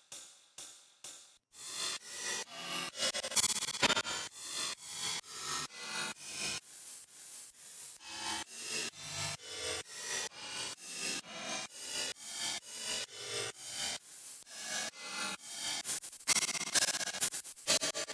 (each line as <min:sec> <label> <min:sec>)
0:15.7 Hi-Hat modular morph 0:18.1